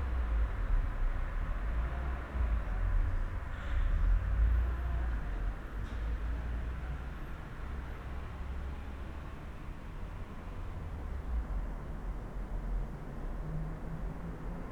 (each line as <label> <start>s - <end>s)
night traffic 0.0s - 14.7s